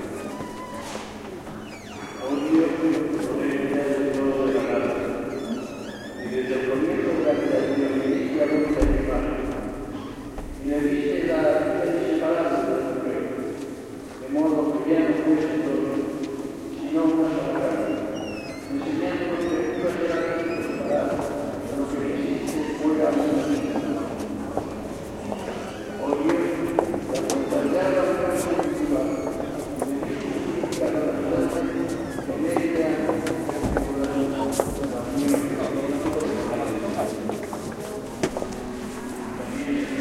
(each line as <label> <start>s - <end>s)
squeaky door that tourists open /close again and again 0.0s - 2.8s
murmur of praying 0.0s - 40.0s
reverberant steps 0.0s - 40.0s
squeaky door that tourists open /close again and again 4.4s - 10.5s
squeaky door that tourists open /close again and again 17.3s - 21.3s
squeaky door that tourists open /close again and again 22.3s - 26.1s
squeaky door that tourists open /close again and again 27.2s - 29.8s
squeaky door that tourists open /close again and again 31.4s - 33.4s